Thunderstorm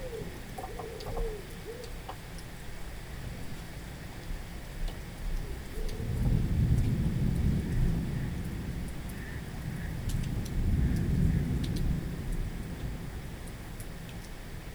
0:05.5 0:14.7

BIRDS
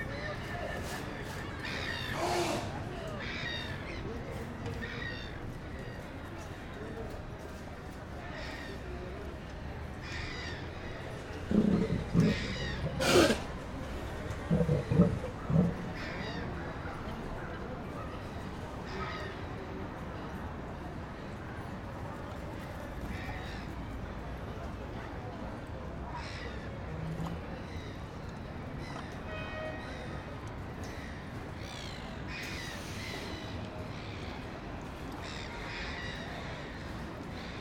0:10.0 0:17.2

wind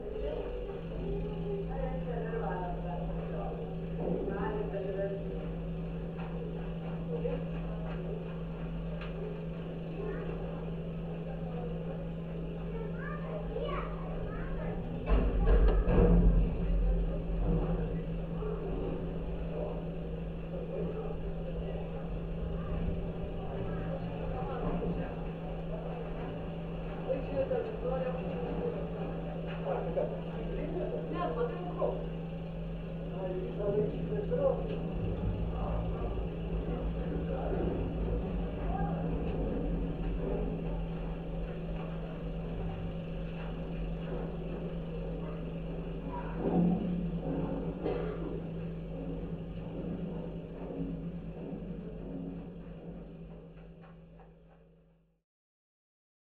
0:13.0 0:45.4

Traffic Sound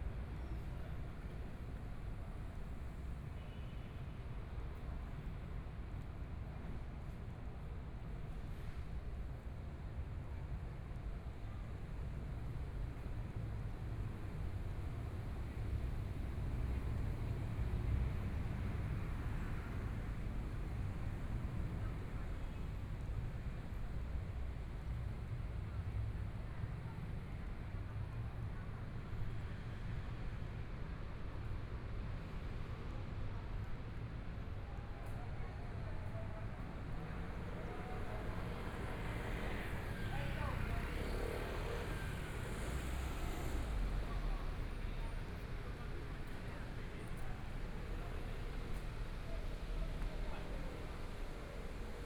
0:12.5 0:28.4, 0:36.2 0:52.0

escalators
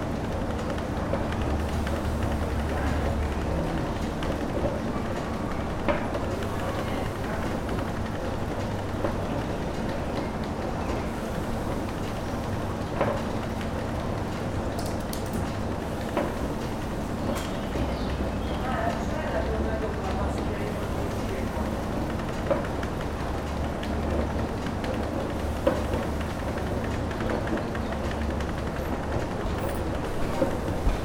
0:28.6 0:30.6

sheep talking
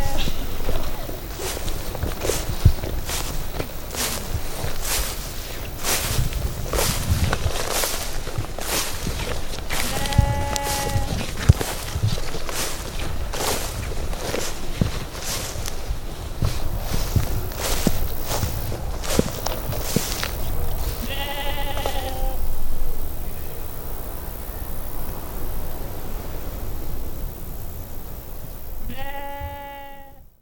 0:00.0 0:01.0, 0:09.7 0:11.2, 0:21.0 0:22.4, 0:28.9 0:30.2

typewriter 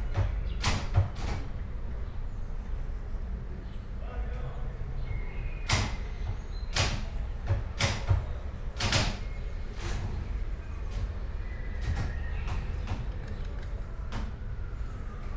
0:00.1 0:01.5, 0:06.7 0:09.3

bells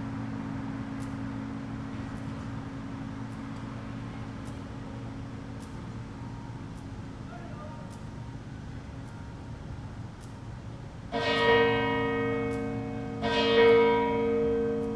0:11.0 0:14.9

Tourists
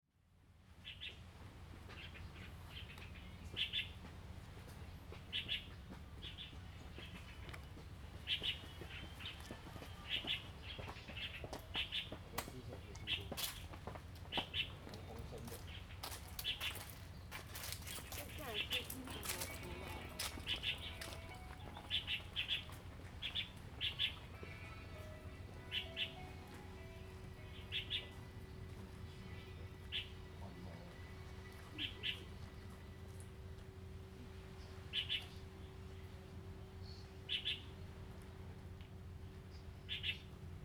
0:06.6 0:33.8

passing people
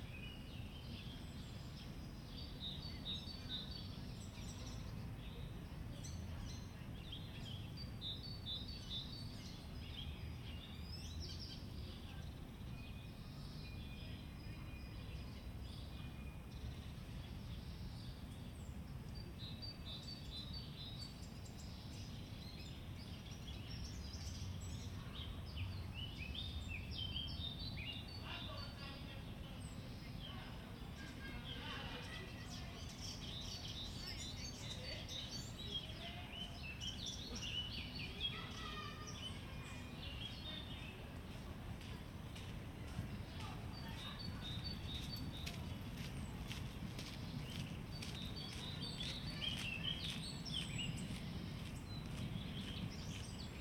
0:27.5 0:53.6

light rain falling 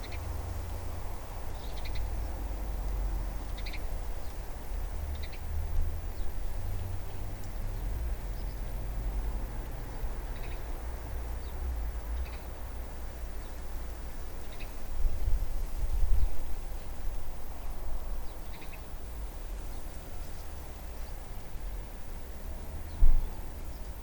0:00.0 0:15.8

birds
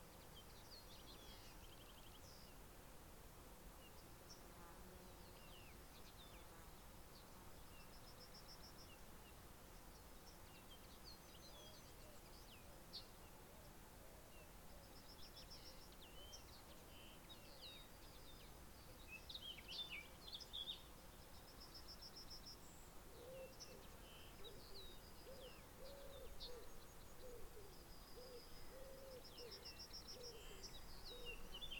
0:07.2 0:31.7

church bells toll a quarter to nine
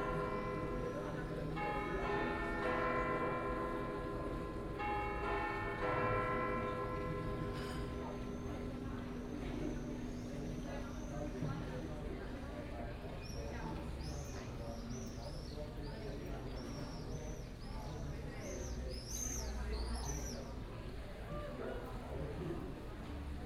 0:00.0 0:11.7

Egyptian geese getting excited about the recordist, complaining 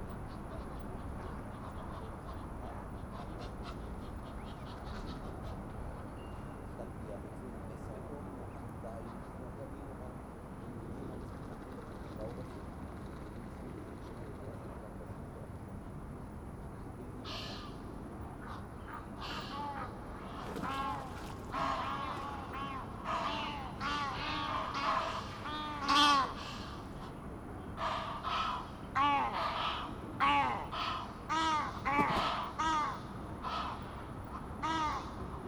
0:19.2 0:26.7, 0:27.8 0:33.9

